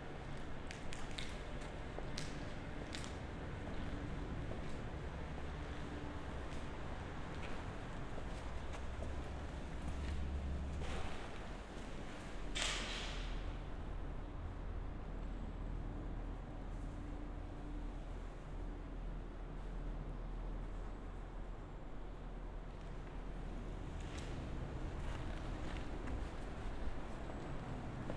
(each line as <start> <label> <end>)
0.0 hum of surrounding traffic 28.1
0.1 walk in abandoned CD factory 12.8
20.4 walk in abandoned CD factory 28.1